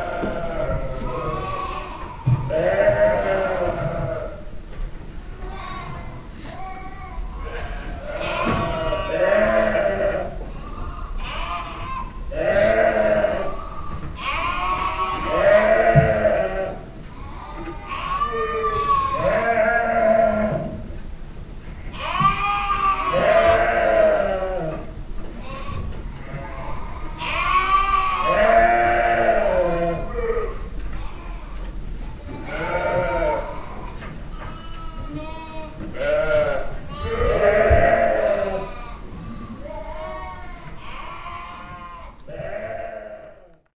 habitual sheep yellings 21.9 - 24.9

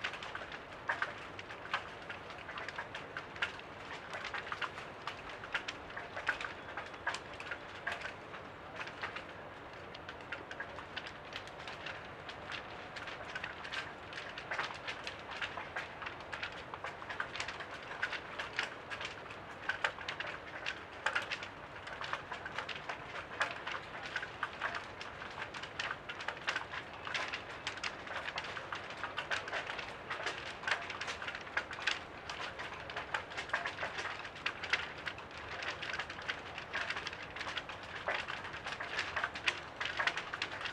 Flapping flags on the wind 0.0 - 40.7

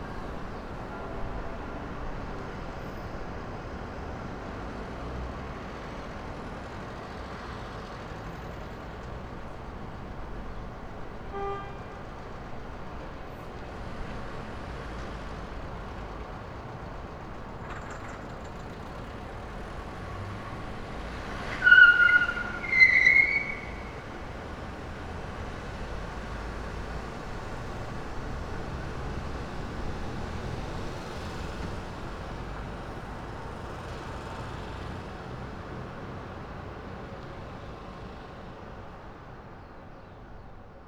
car horns 11.3 - 12.1
squeaking tyres 17.4 - 24.8
car horns 21.1 - 24.1

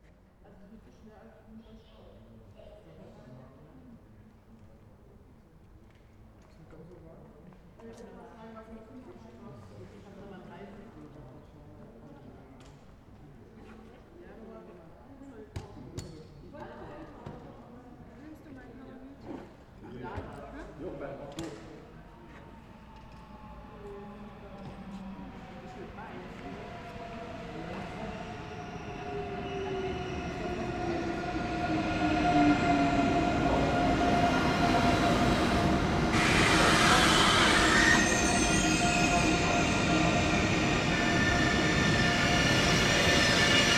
train arrival 21.8 - 43.7

